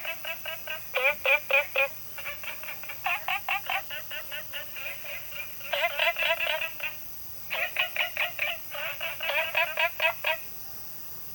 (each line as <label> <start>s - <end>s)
Frogs chirping 0.0s - 10.6s